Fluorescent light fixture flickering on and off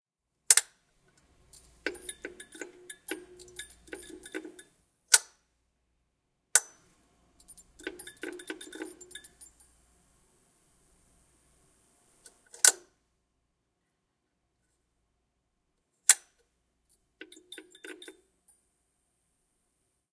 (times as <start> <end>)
0.5 5.3, 6.6 13.0, 16.1 18.7